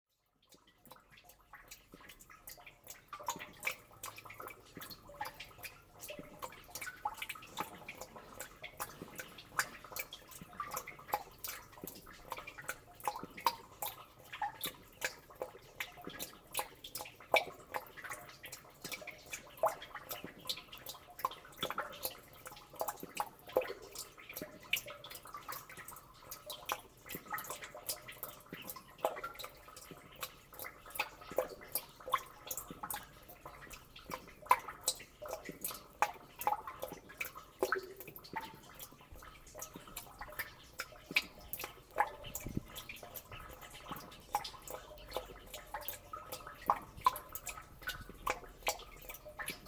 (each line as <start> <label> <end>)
0.1 rhytmic water dripping in rain drenage well 49.6